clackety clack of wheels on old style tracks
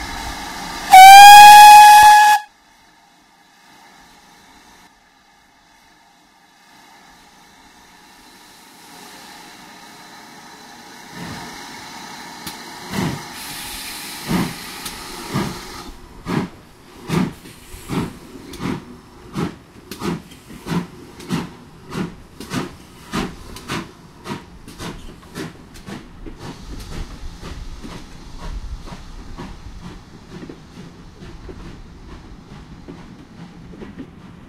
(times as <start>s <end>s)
12.4s 34.4s